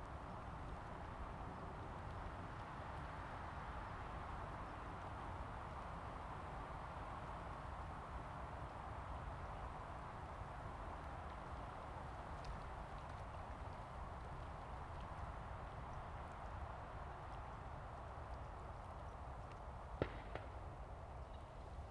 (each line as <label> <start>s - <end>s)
Wind 0.0s - 21.9s